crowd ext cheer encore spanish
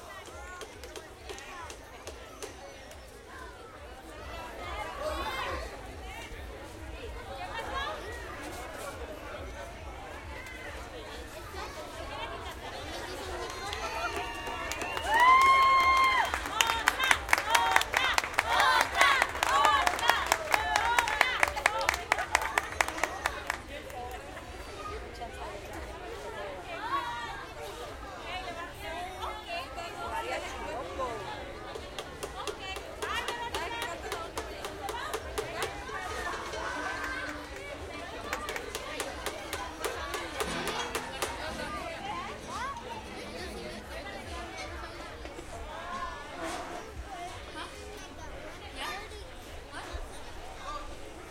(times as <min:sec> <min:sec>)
0:13.5 0:23.5